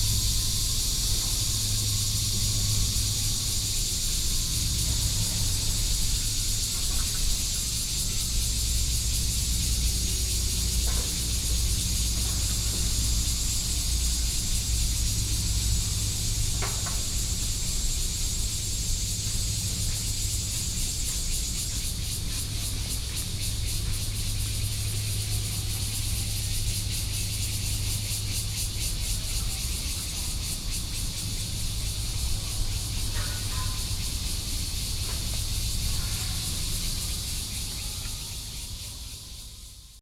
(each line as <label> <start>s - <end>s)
Road construction Sound 0.0s - 26.3s
Traffic Sound 0.0s - 39.1s
Cicadas cry 0.0s - 40.0s
Road construction Sound 28.2s - 38.2s